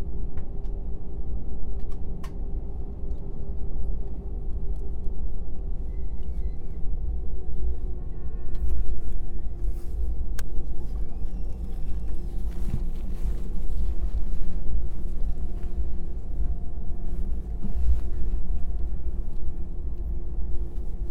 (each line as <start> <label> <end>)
0.0 Take off of the Aeroflot plane 21.1